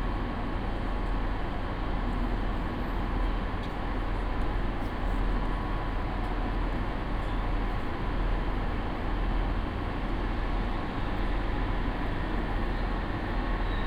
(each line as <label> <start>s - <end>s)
IC/ICE trains arrive and depart 5.4s - 13.8s